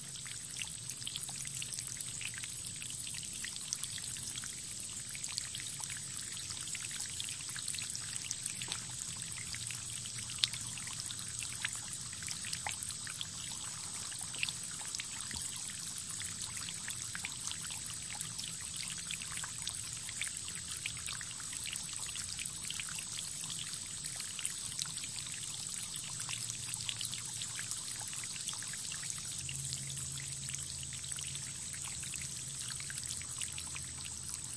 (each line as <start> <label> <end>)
0.0 insects 34.5